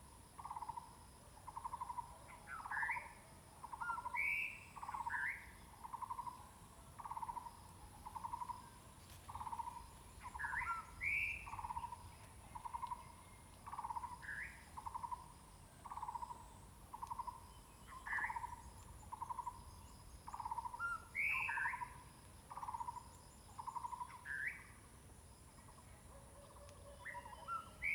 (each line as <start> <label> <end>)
15.8 Birds singing 21.9
26.4 Birds singing 27.9